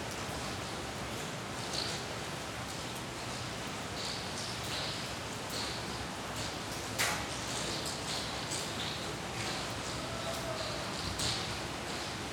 falling rain resonates in a carport tunnel 0:00.0 - 0:12.3

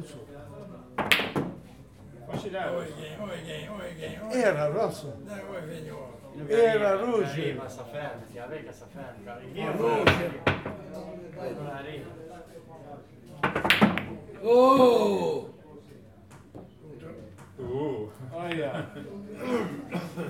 men throw billiard balls on the billiard table 0:01.0 - 0:02.5
men throw billiard balls on the billiard table 0:09.8 - 0:11.0
men throw billiard balls on the billiard table 0:13.3 - 0:14.8

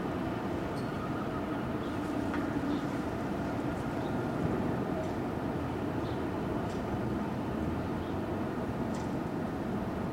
Traffic 0:00.0 - 0:10.1
Wind 0:00.0 - 0:10.1
Sirens 0:00.6 - 0:04.5

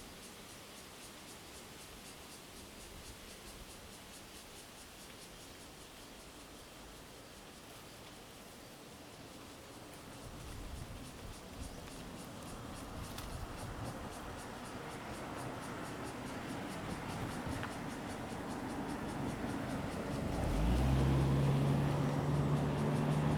Traffic Sound 0:10.0 - 0:23.3

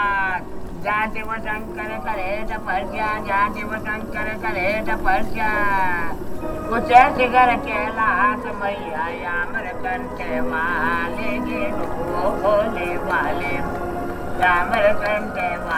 man is praying 0:00.0 - 0:15.7
music played in the nearby market 0:00.0 - 0:15.7

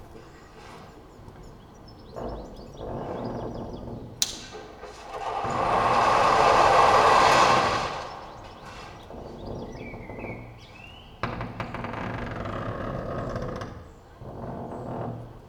inner window creaks 0:00.0 - 0:15.4
sand 0:04.2 - 0:11.0

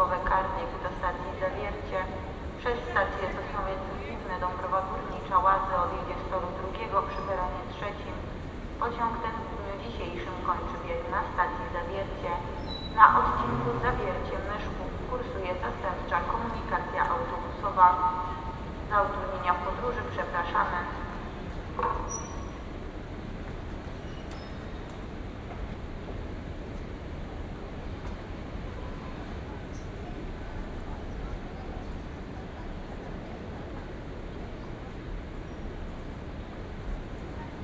Train anouncements 0:00.0 - 0:37.6

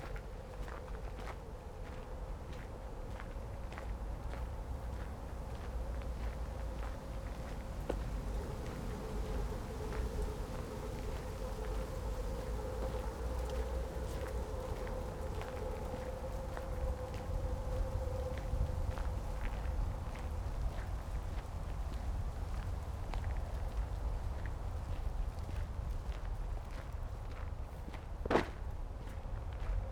walk 0:00.0 - 0:29.9

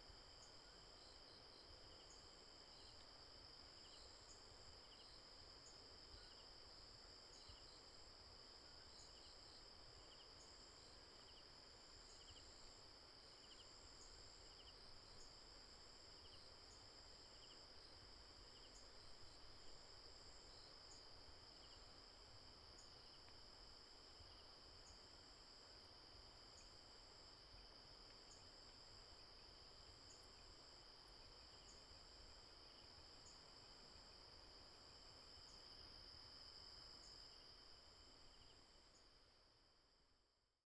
Insect noise 0:00.0 - 0:40.2

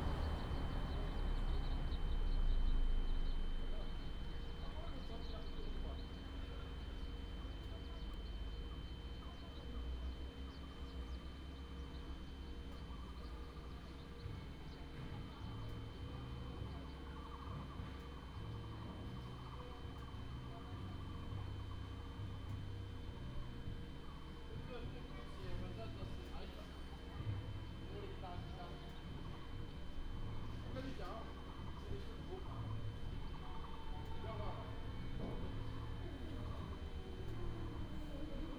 traffic sound 0:00.0 - 0:04.7
Air conditioning sound 0:00.0 - 0:38.5
traffic sound 0:31.6 - 0:38.5

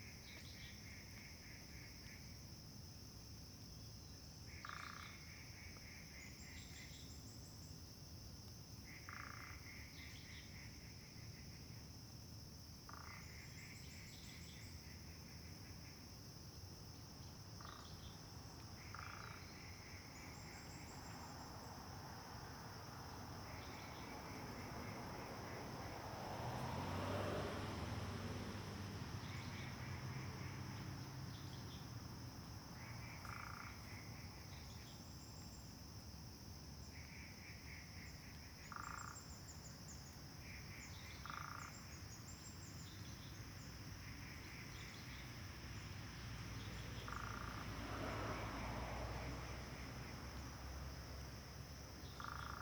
Traffic Sound 0:17.2 - 0:36.0
Traffic Sound 0:36.6 - 0:52.6

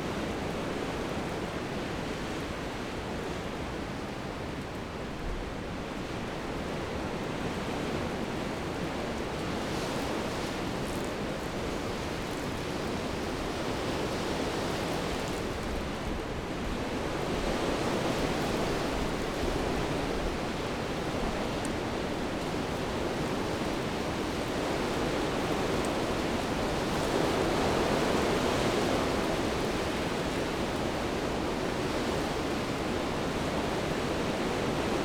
wind and the trees 0:00.0 - 0:35.0

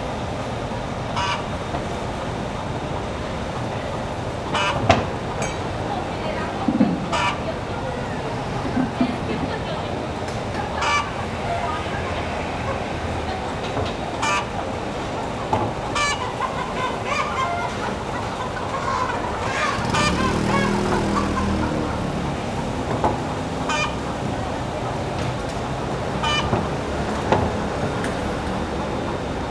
Traffic Sound 0:00.0 - 0:29.5
Chicken sounds 0:01.2 - 0:02.2
Chicken sounds 0:03.8 - 0:29.5
Birds singing 0:10.6 - 0:29.5

